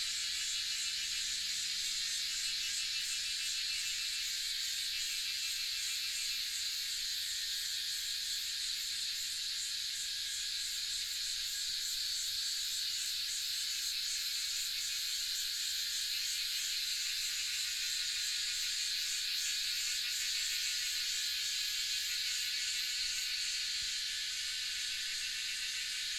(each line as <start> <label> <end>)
0.0 Cicada sounds 26.1